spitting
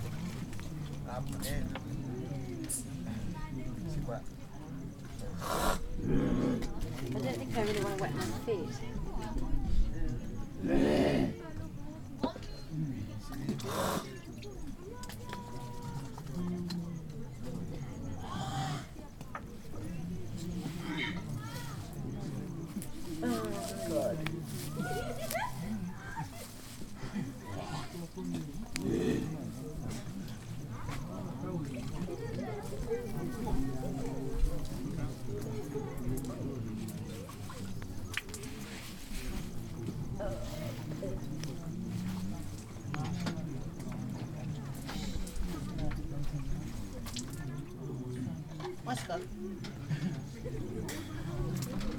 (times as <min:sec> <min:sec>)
0:13.6 0:14.2